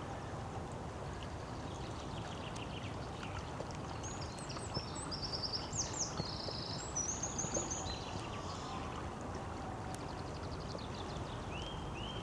river 0:00.0 - 0:12.2

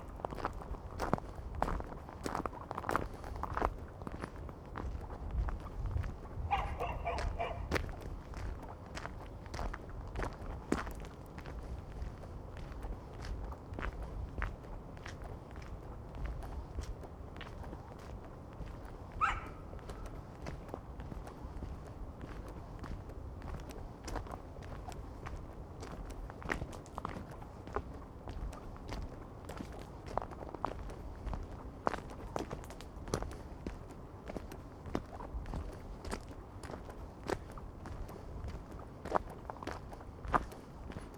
dogs 0:06.4 - 0:08.0
dogs 0:19.1 - 0:20.2

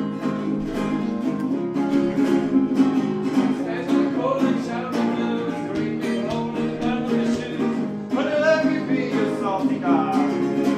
unknown folkie giving a concert 0:00.0 - 0:10.7

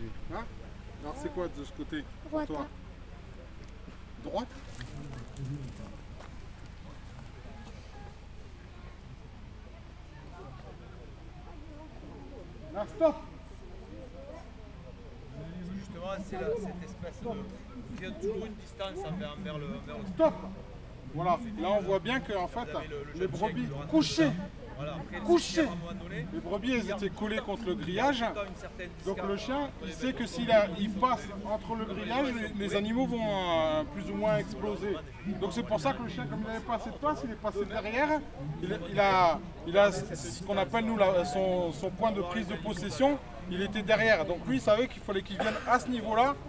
chiens de troupeaux 0:00.0 - 0:46.4

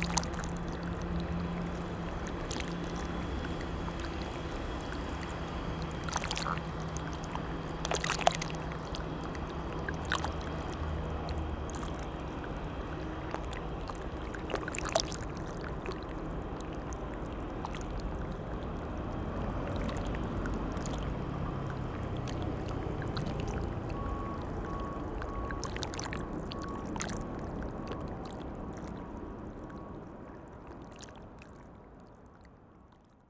Soft river Seine flowing near the barges 0:00.0 - 0:33.2

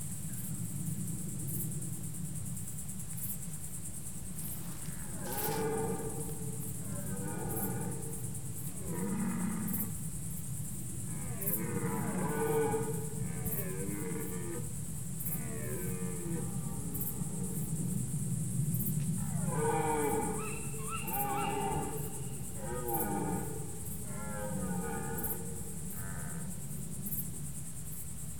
Three deers fighting for the territory 0:04.3 - 0:08.0

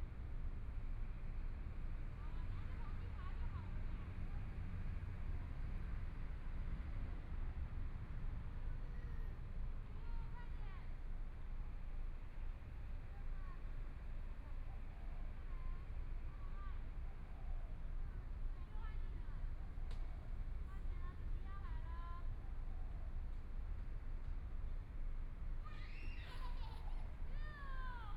Mother and child 0:25.6 - 0:28.1

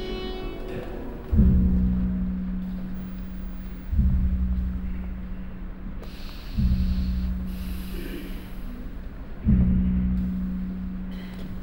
voice 0:00.0 - 0:01.5
older chairs 0:00.0 - 0:11.6
orchestra 0:00.0 - 0:11.6
sounds of the audience 0:00.0 - 0:11.6
voice 0:07.8 - 0:09.0

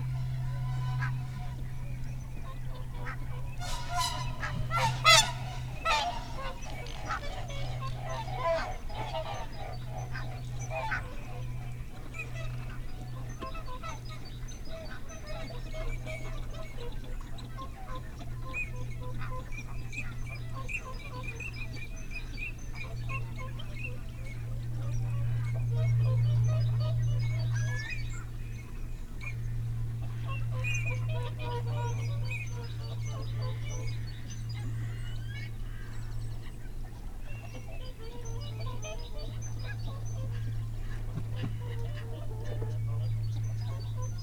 curlew 0:00.0 - 0:09.8
moorhen 0:00.0 - 0:10.4
canada geese 0:00.0 - 0:11.0
barnacle geese 0:00.0 - 0:11.4
song thrush 0:03.5 - 0:07.8
lapwing 0:03.5 - 0:08.4
whooper swan 0:03.6 - 0:07.4
starling 0:03.6 - 0:07.5
wigeon 0:03.6 - 0:07.8
crow 0:03.6 - 0:07.4
barnacle geese 0:37.3 - 0:44.2

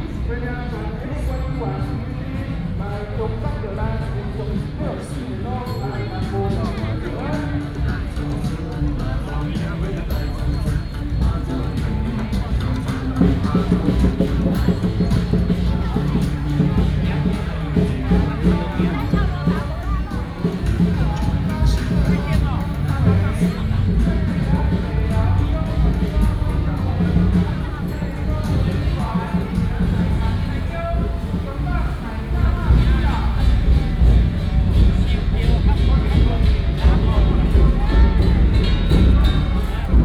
Walking on the road 0:00.0 - 0:40.0

